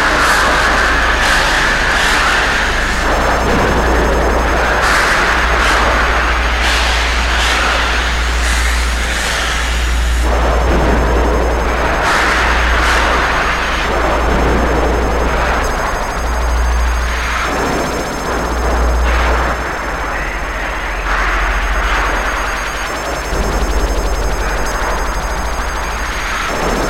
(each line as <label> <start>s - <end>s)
synthesizer 0.0s - 26.8s